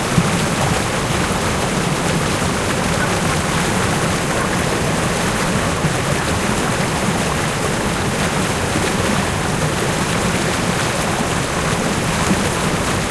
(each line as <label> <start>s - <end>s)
rushing water 0.0s - 13.1s